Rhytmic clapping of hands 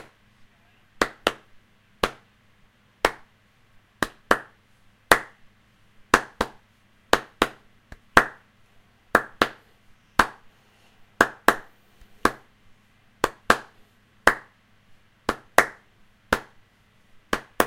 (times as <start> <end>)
1.0 2.3, 3.0 3.3, 4.0 5.4, 6.1 8.5, 9.1 9.6, 10.2 10.5, 11.2 12.5, 13.2 14.6, 15.2 16.6, 17.3 17.6